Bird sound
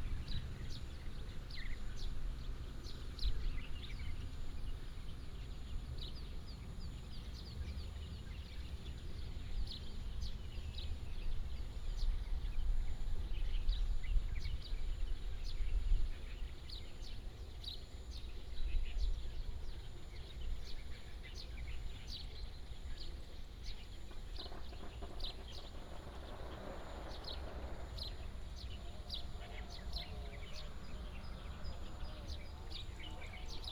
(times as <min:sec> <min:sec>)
0:15.4 0:33.7